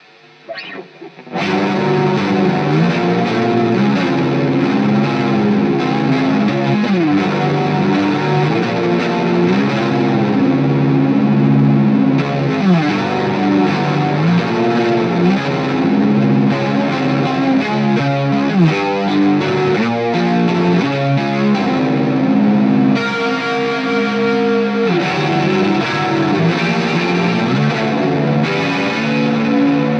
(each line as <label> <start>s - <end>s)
guitar 0.0s - 29.9s